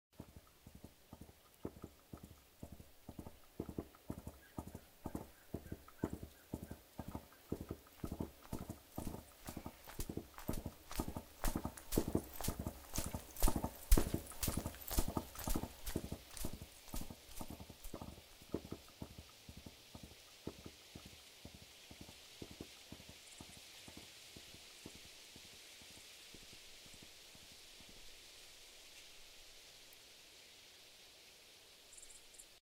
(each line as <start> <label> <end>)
0.2 Horse galloping 28.1